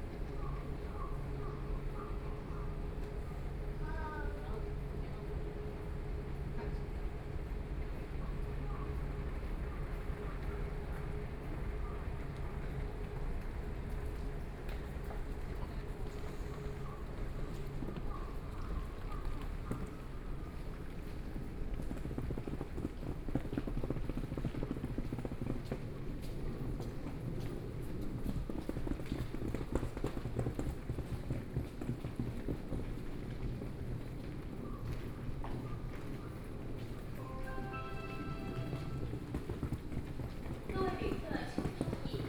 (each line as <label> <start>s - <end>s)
walking in the station 0.0s - 42.2s